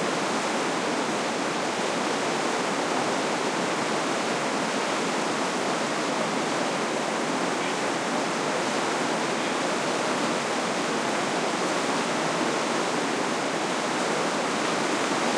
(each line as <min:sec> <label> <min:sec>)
0:00.0 running water 0:15.3
0:00.0 waterfall 0:15.3